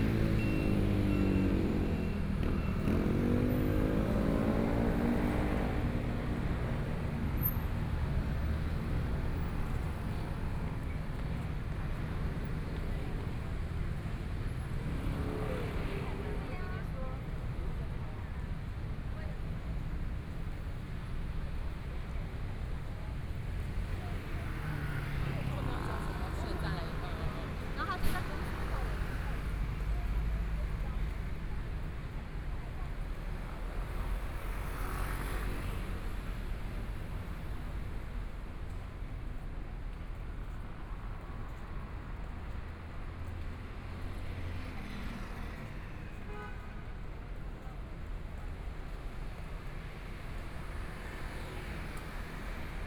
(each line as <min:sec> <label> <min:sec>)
0:00.0 Motorcycle sound 0:06.2
0:00.0 Traffic Sound 0:52.8
0:00.0 walking on the Road 0:52.8